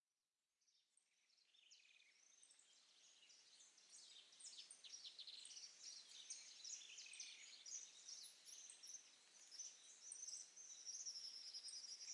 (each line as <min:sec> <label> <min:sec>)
0:01.4 birds 0:12.1